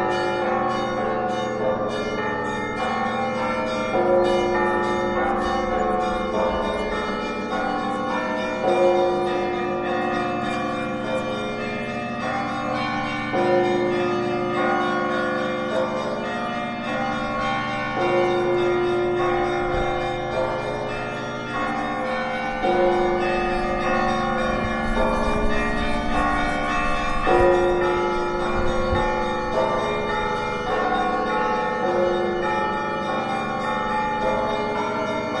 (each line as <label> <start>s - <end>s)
church bells 0.0s - 35.4s
wind noise 24.5s - 29.6s